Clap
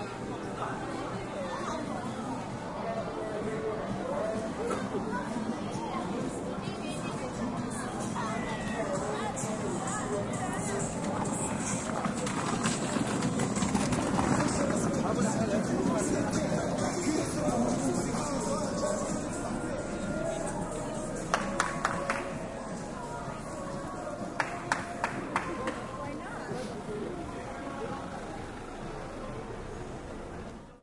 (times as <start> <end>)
21.3 22.4, 24.4 25.9